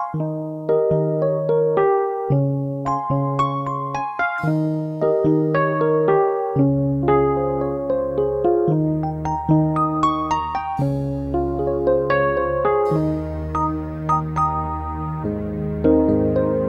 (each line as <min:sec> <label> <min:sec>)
0:00.0 Sweet vibraphone melody 0:16.6
0:00.0 a little bass 0:16.6